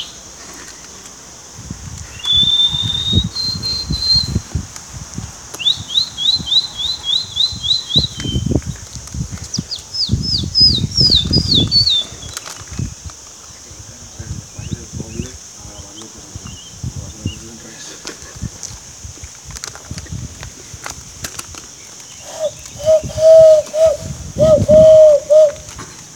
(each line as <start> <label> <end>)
22.1 Pájaros 25.8